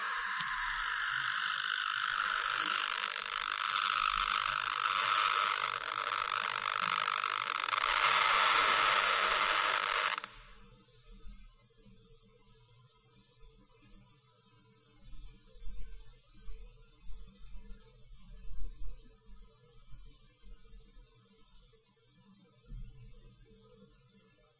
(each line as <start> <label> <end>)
0.0 sparking 10.6
0.0 air ionizer working 10.8